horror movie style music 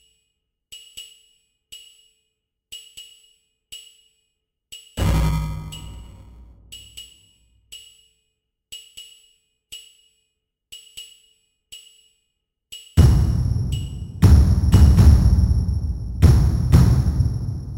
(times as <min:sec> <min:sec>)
0:13.0 0:17.7